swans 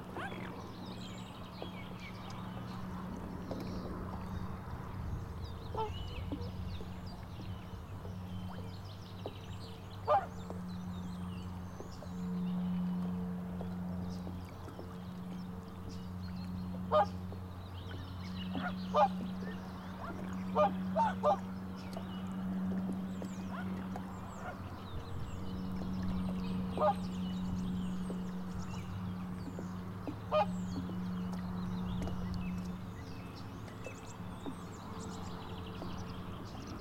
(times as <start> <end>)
0.0 0.8, 5.7 6.6, 10.0 10.7, 16.7 17.3, 17.9 22.4, 23.4 24.8, 26.7 27.6, 30.0 32.5